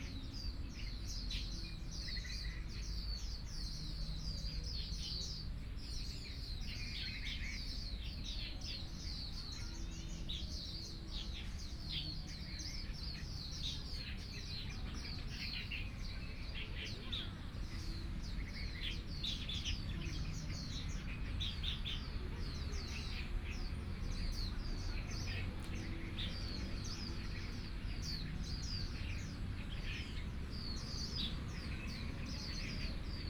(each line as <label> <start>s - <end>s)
Birds 0.0s - 33.2s
Traffic Sound 9.8s - 33.2s